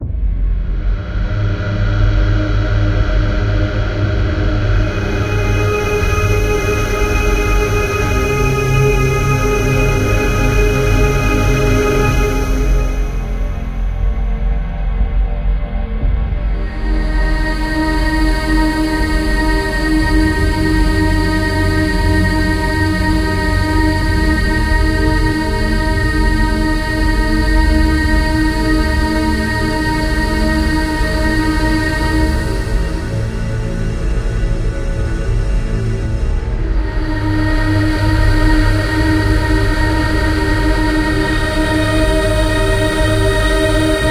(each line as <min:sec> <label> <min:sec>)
0:00.0 Drone 0:44.1